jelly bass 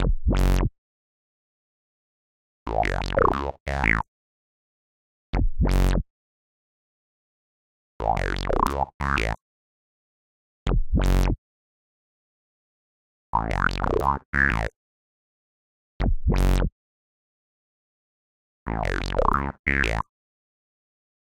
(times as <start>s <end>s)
0.0s 0.7s, 2.7s 4.0s, 5.6s 6.0s, 13.4s 14.7s